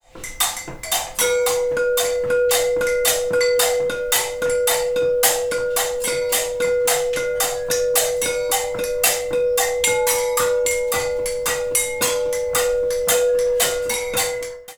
0.0s Batucada made with different clay percussion instruments 14.7s

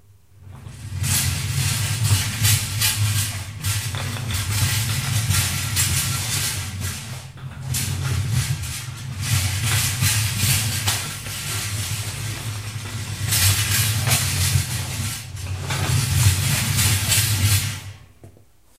0.4s cart 18.0s

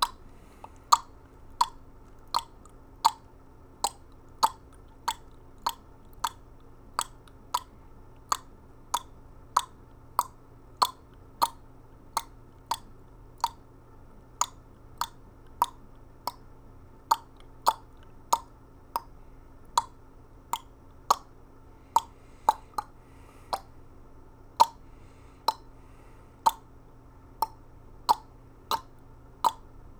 0.0s Mouth Clicks 13.7s
14.4s Mouth Clicks 16.5s
17.1s Mouth Clicks 23.8s
24.6s Mouth Clicks 25.8s
26.4s Mouth Clicks 26.7s
27.4s Mouth Clicks 29.7s

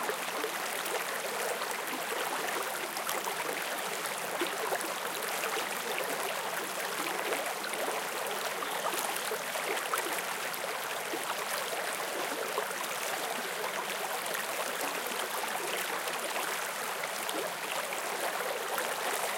0.0s small creek 19.3s

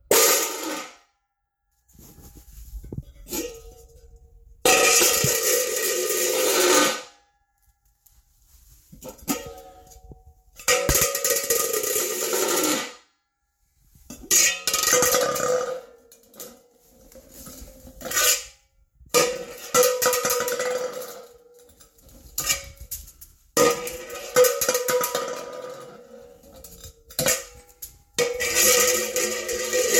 0.1s hubcap dropping and spinning 1.0s
4.6s hubcap dropping and spinning 7.1s
8.7s hubcap dropping and spinning 13.0s
14.1s hubcap dropping and spinning 18.5s
19.1s hubcap dropping and spinning 29.9s

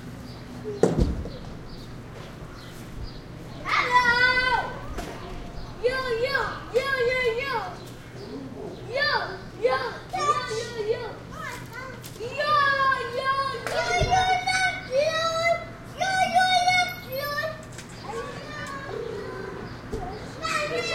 3.5s kids quebecois playing shouting 7.8s
8.8s kids quebecois playing shouting 20.9s

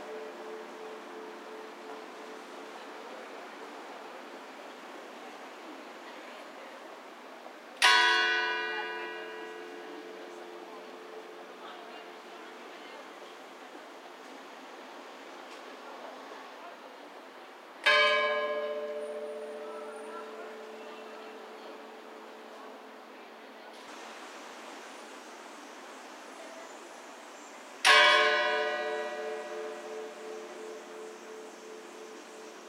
0.0s Church bell ringing sadly every 10 seconds 2.4s
0.0s lively traffic noise 32.6s
7.8s Church bell ringing sadly every 10 seconds 12.3s
17.8s Church bell ringing sadly every 10 seconds 23.1s
27.8s Church bell ringing sadly every 10 seconds 32.6s

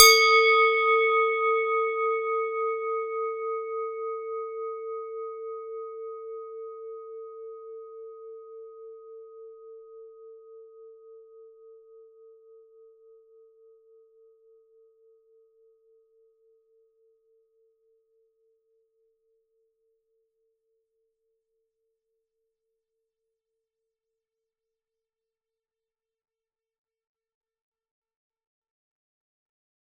0.0s Swiss cowbell 3.2s

